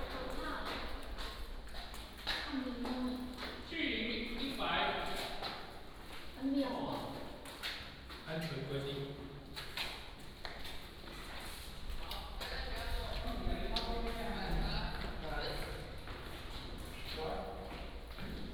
walking in the Abandoned military sites 0.0 - 18.5

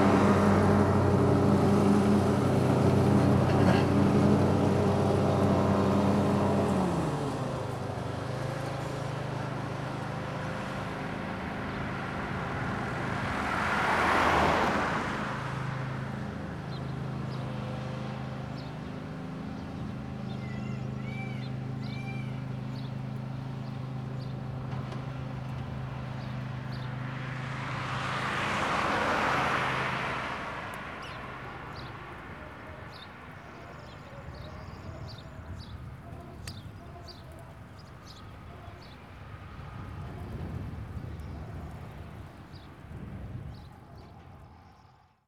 man mowing a lawn on a tractor 0.0 - 43.5
birds 15.6 - 45.2

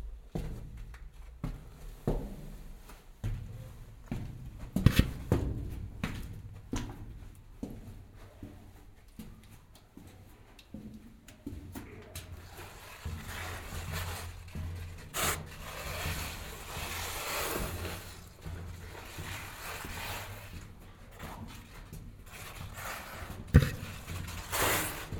walk through the narrow tunnel 0.0 - 25.1

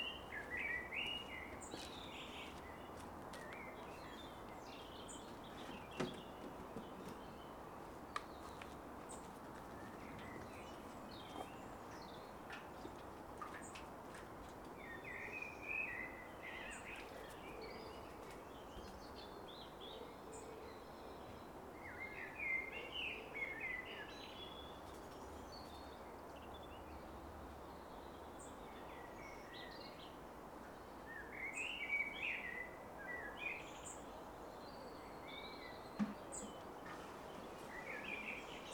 Birdsong 0.0 - 38.7
traffic in the background 0.0 - 38.7

